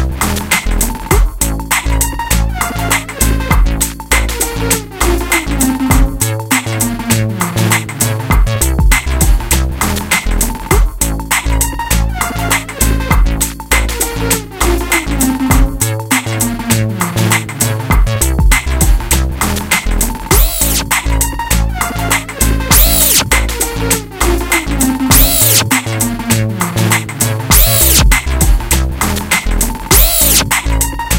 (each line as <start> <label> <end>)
0.0 bass 31.1
0.0 drum 31.1
20.1 synth 31.1